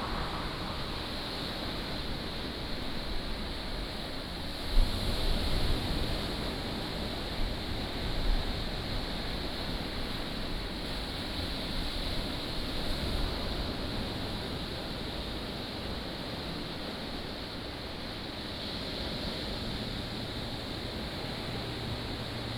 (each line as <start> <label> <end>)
0.0 Traffic Sound 2.2
0.0 waves 22.5